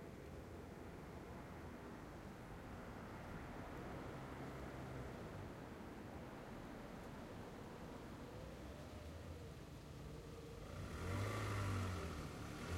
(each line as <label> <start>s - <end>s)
cars 0.0s - 12.7s
truck 9.8s - 12.7s